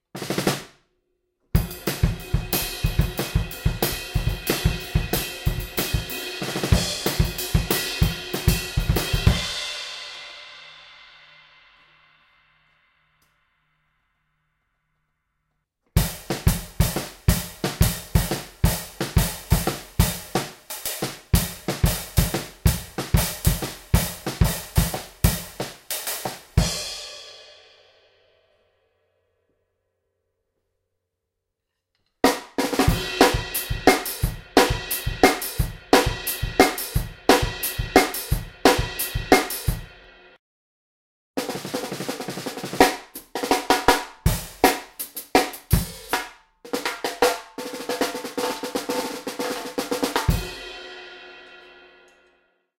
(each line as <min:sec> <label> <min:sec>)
0:00.1 small+big snare 0:00.8
0:01.6 hi hats w tambourine on top 0:09.8
0:15.9 small+big snare 0:26.7
0:16.0 hi hats w tambourine on top 0:26.8
0:32.2 hi hats w tambourine on top 0:39.9
0:41.4 small+big snare 0:47.4
0:41.4 hi hats w tambourine on top 0:50.6